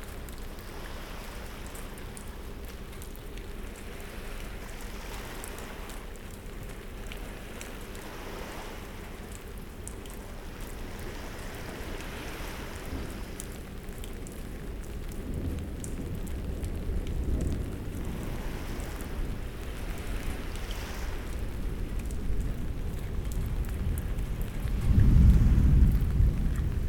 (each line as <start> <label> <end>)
0.0 Rain 26.8
0.0 sea 26.8
10.9 thunderstorm 26.8